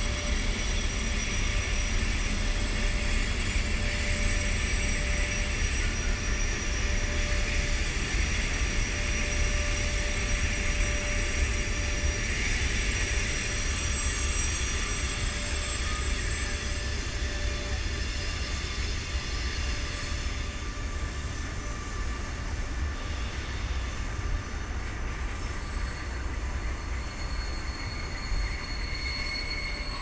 trains and their echos reflecting from the walls 0.0 - 30.0

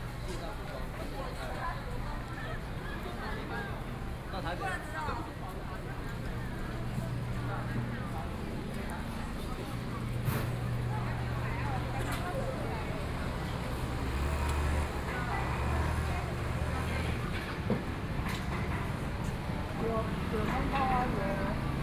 Traffic Sound 6.9 - 21.8

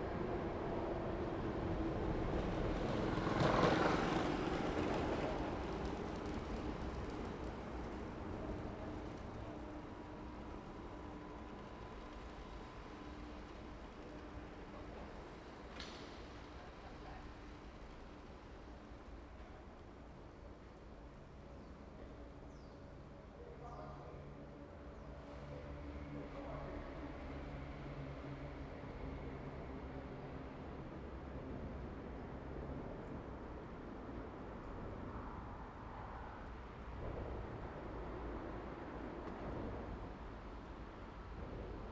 traffic sound 0.0 - 19.6
train passes by 0.0 - 41.9

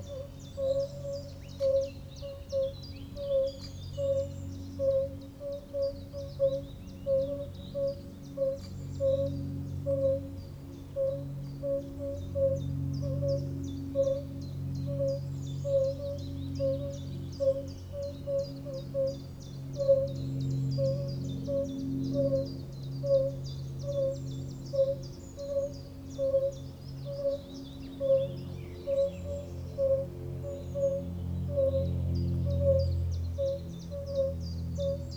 motor plane 6.8 - 35.1

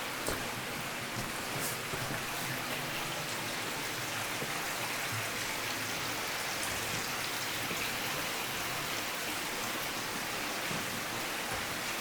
water flows everywhere 0.0 - 12.0

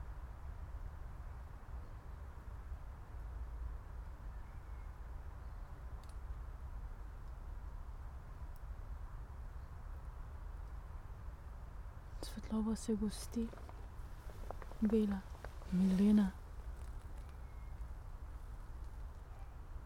spoken words 12.2 - 13.6
spoken words 14.8 - 16.4

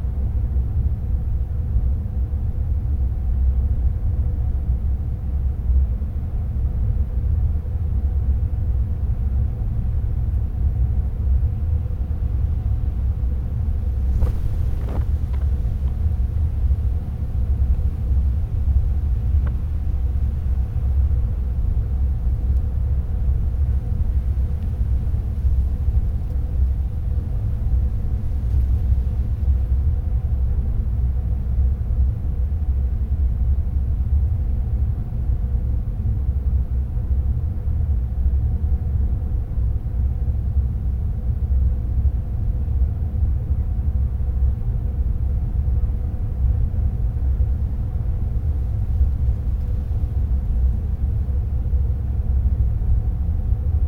rustling of wind in the grass 12.7 - 33.3
rustling of wind in the grass 46.3 - 53.8

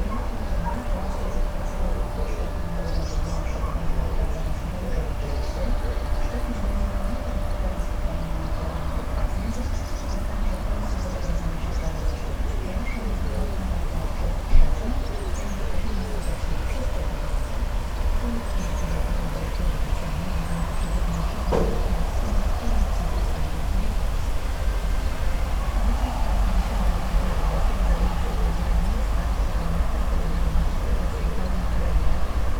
wind in trees 0.0 - 32.5

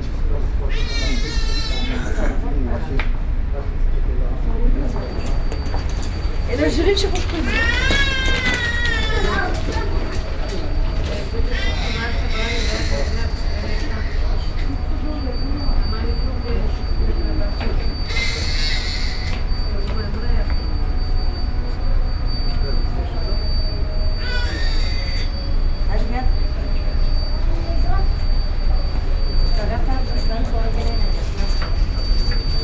baby crying 7.4 - 9.6
baby crying 24.2 - 25.3

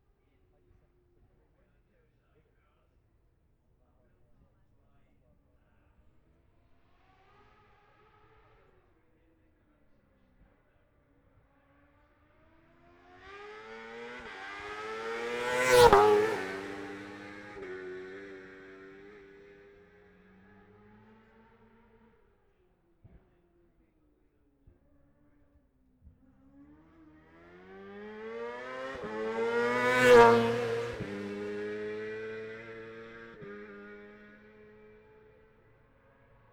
F2 sidecars 12.6 - 22.1
F2 sidecars 26.0 - 36.4

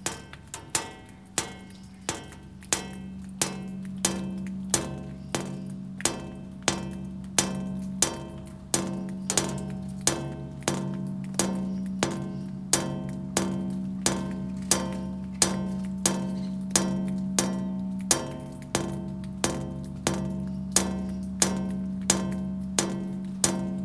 Birdsongs 0.0 - 17.7
Raindrops activating a metal structure 0.0 - 23.8

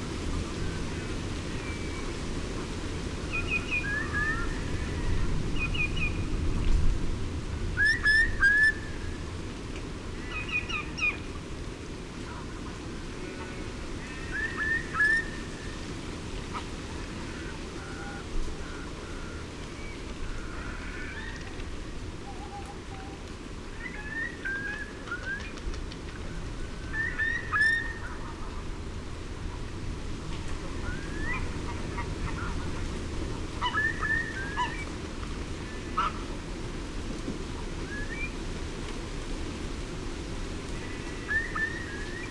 Wind 0.0 - 42.3
rain 0.0 - 42.3
greylag goose 12.2 - 15.3
grey heron 16.4 - 29.7
greylag goose 30.3 - 34.9
greylag goose 35.8 - 36.4

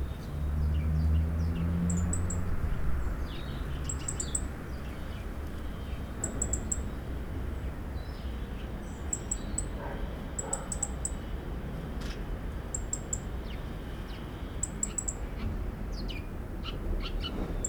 tramway 0.0 - 17.6
dogs 9.7 - 11.0

